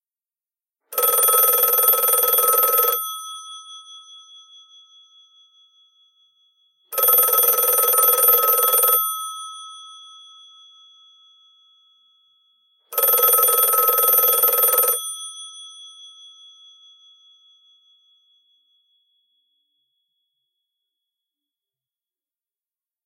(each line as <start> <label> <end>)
0.9 telephone bell rings three times 3.9
6.9 telephone bell rings three times 10.0
12.9 telephone bell rings three times 15.4